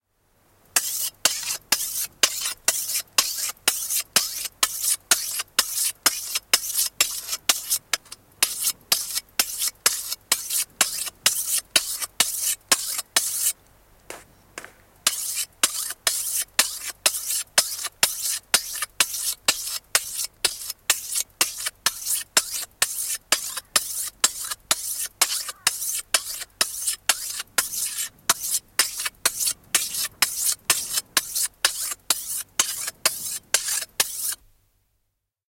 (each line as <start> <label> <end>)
0.8 Scythe, sharpening with a hone 13.6
15.1 Scythe, sharpening with a hone 34.4